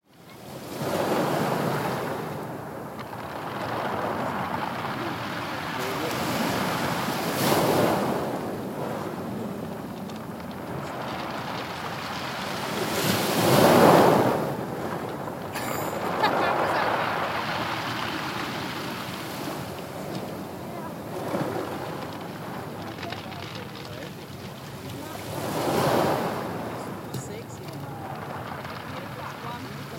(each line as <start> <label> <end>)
0.1 Waves Crash 29.9
15.5 Laughter 17.0